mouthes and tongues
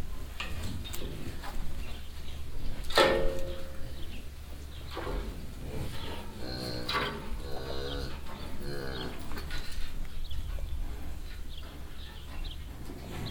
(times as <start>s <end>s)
3.5s 12.6s